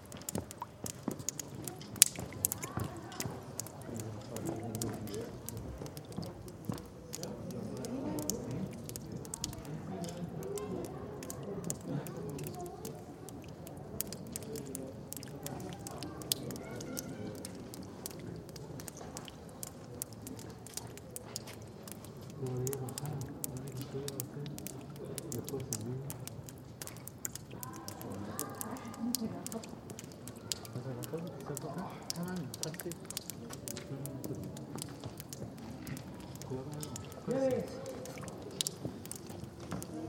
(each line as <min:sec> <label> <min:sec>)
0:00.0 Tourists 0:40.0
0:00.0 dripping water 0:40.0